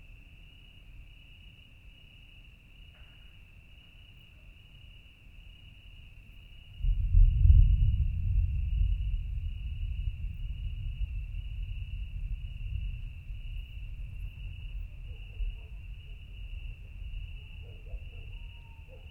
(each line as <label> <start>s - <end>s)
Thunderstorm in the distance 6.7s - 19.1s
ocasional dogs 14.8s - 16.2s
ocasional dogs 17.3s - 19.1s
owls 17.4s - 19.1s